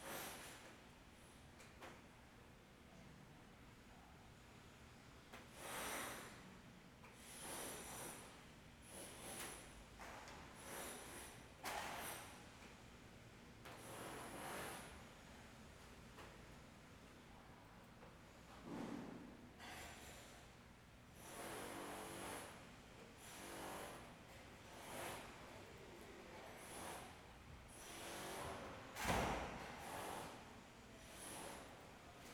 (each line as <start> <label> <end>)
21.2 Construction 22.6
23.2 Construction 25.6
26.4 Construction 32.3